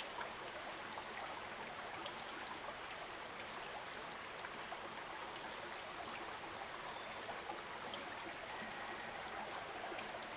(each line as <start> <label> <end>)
0.0 Small streams 10.3